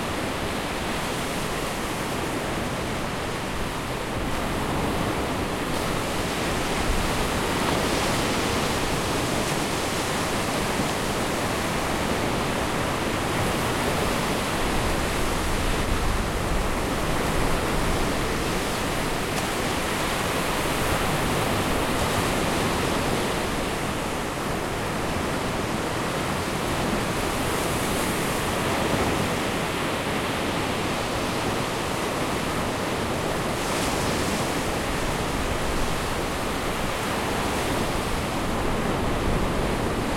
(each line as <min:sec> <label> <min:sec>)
0:00.0 sea waves 0:40.1